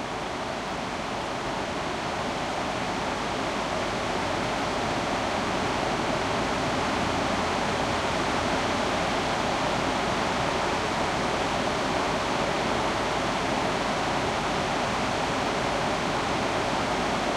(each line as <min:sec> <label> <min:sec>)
0:00.0 strong almost static waterfall 0:17.3